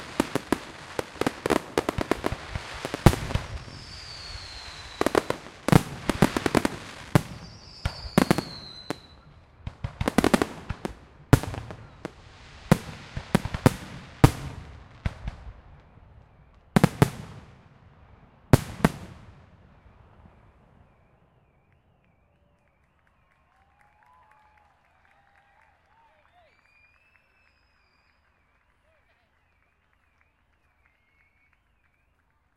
0.0s Crackling fireworks 24.6s
25.3s Crackling fireworks 32.5s

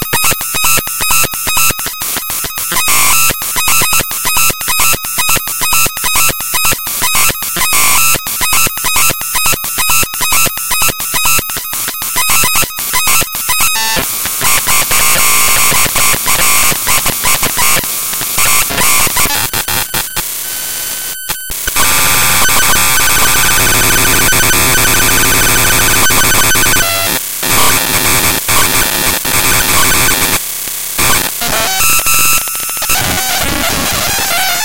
0.0s static 34.6s
0.0s glitchy sounds 30.4s
21.2s beep 26.8s

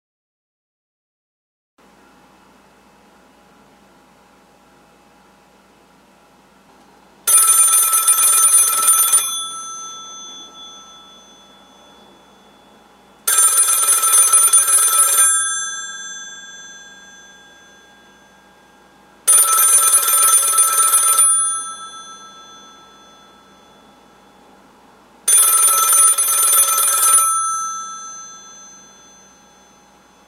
7.3s Old Rotary Phone Ringing 24.6s
25.2s Old Rotary Phone Ringing 30.2s

